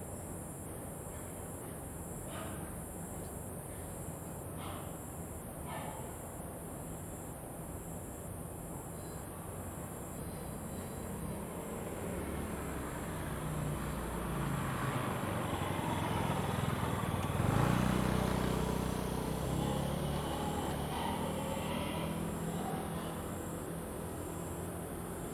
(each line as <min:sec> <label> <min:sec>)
0:10.4 Traffic Sound 0:25.3